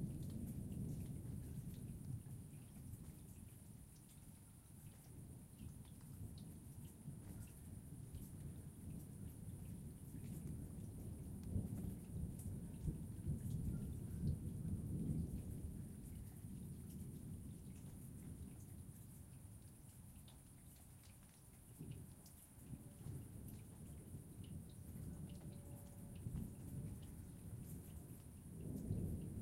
0.0s thunder 3.3s
0.0s light rain 29.4s
7.2s thunder 18.7s
22.7s thunder 29.4s

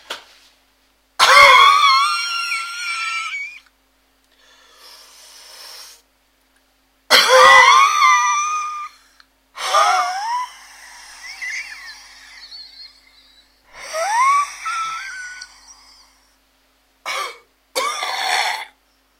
17.0s Whiny cough 1 18.8s

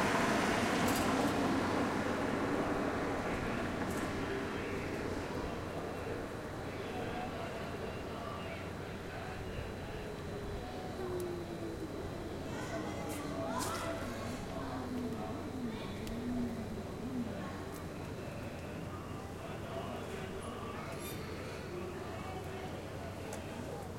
10.6s children 22.6s

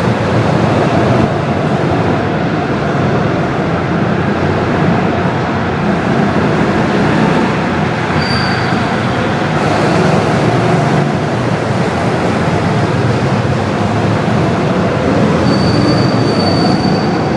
5.8s go kart 17.3s

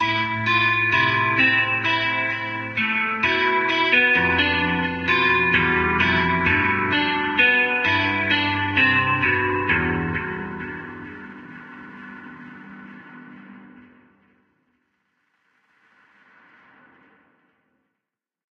0.0s Guitar Solo 11.4s

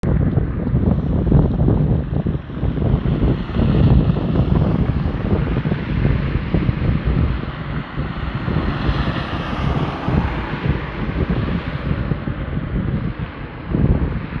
0.0s car 14.4s

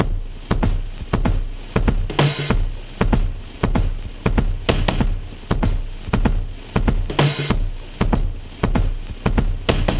0.0s Acoustic Breakbeats 9.9s

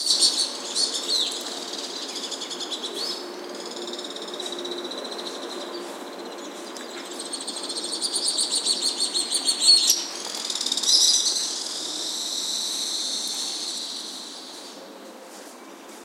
0.0s city noise in background 16.0s
9.7s Screechings from a group of Alpine swifts 14.8s

